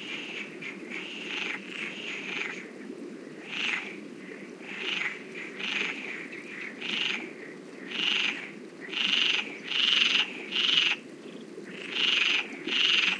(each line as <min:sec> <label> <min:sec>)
0:00.0 Frogs croacking 0:13.1
0:00.0 river 0:13.1
0:11.2 birds in background 0:12.0